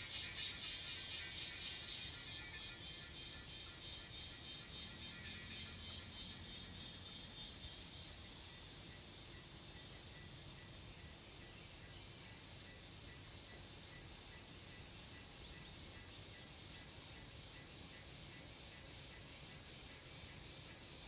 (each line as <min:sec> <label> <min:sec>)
0:00.0 Cicada sounds 0:07.7